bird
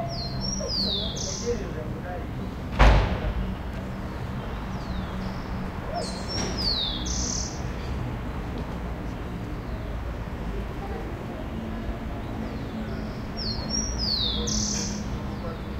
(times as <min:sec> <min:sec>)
0:00.0 0:01.8, 0:04.1 0:08.0, 0:12.2 0:15.7